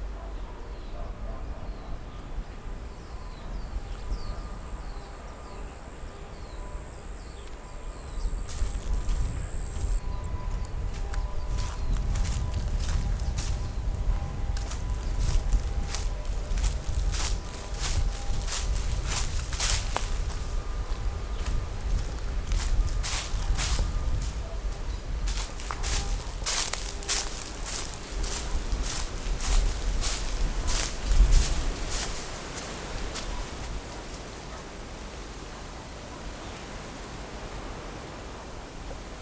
Birdsong 0:00.0 - 0:34.8
Foot with the sound of leaves 0:00.0 - 0:39.2
wind 0:00.0 - 0:39.2
Dogs barking 0:00.0 - 0:02.0

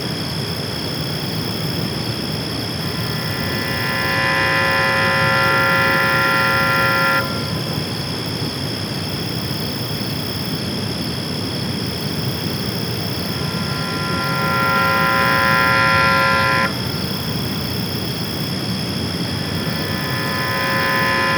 crickets 0:00.0 - 0:21.3
Mysterious alarm-like sound emanating from a water processing plant 0:02.8 - 0:08.1
Mysterious alarm-like sound emanating from a water processing plant 0:12.6 - 0:18.0
Mysterious alarm-like sound emanating from a water processing plant 0:19.0 - 0:21.3

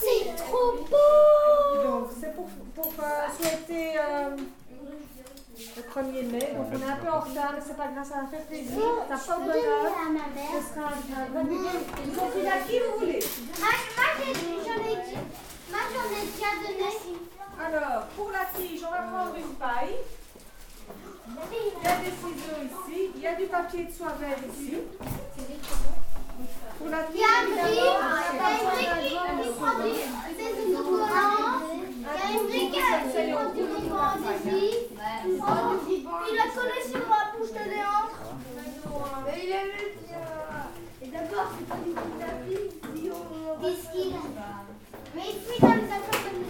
children are really working 0:00.0 - 0:46.4

